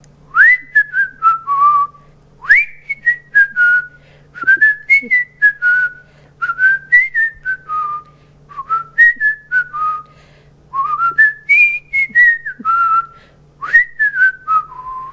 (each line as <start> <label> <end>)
0.3 whistle 10.1
10.8 whistle 15.1